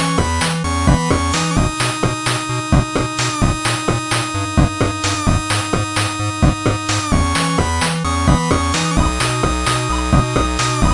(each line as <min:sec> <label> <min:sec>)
0:00.0 synth 0:10.9